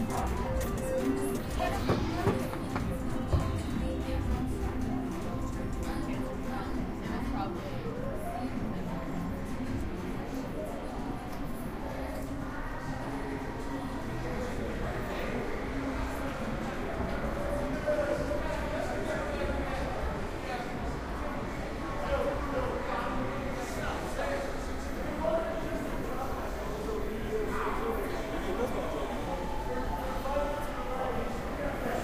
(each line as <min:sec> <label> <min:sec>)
0:00.0 slot machines 0:03.1